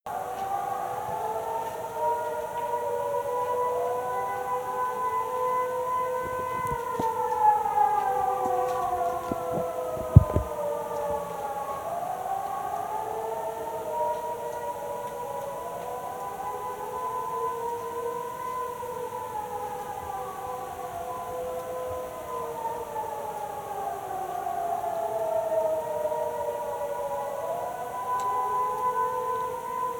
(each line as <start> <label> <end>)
0.1 Air-raid siren test 29.9